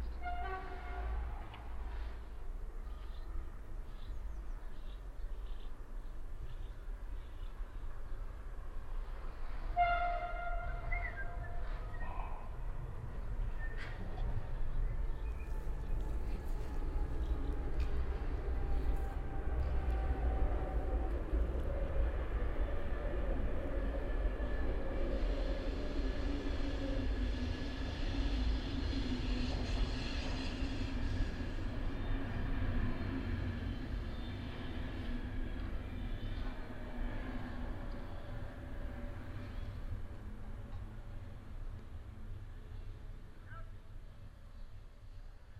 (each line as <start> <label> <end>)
0.0 distant signal horn of the train 2.2
0.0 approaching train 45.5
9.6 distant signal horn of the train 12.6
15.0 distant signal horn of the train 21.4